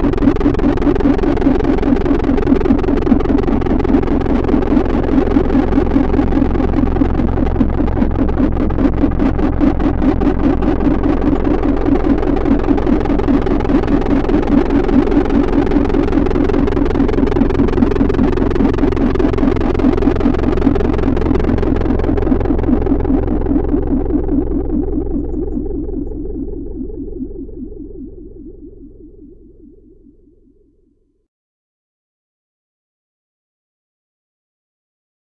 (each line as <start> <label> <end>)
0.0 laser 30.0
0.0 drone 31.0